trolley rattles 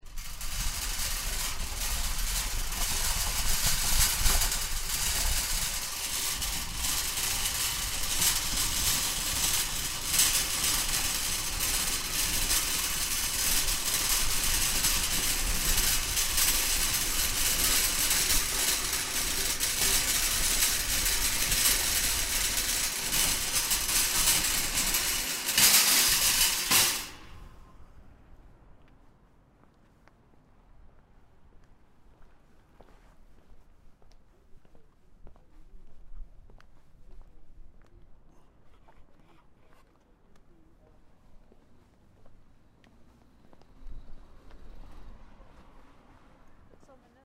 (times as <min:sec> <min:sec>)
0:00.0 0:27.4